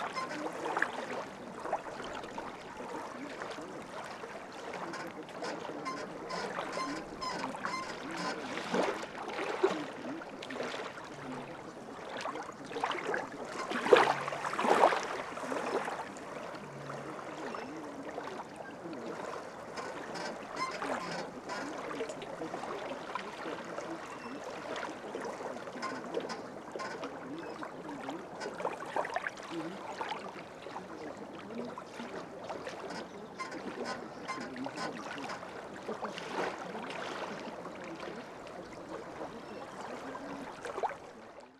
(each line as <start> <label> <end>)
0.0 birds fighting for place on abandoned pontoon bridge 40.6
4.6 rusty pontoons 9.8
18.6 rusty pontoons 22.4
25.7 rusty pontoons 28.8
32.2 rusty pontoons 36.8